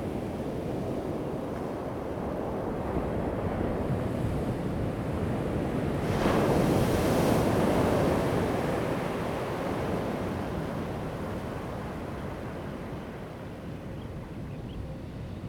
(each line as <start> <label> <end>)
4.6 waves 14.5